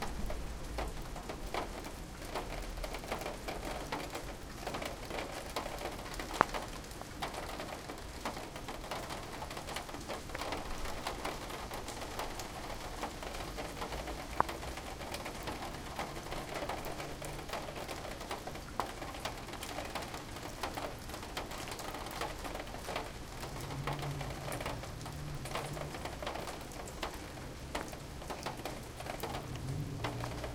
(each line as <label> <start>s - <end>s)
Rain falling around and through the downspout 0.0s - 30.5s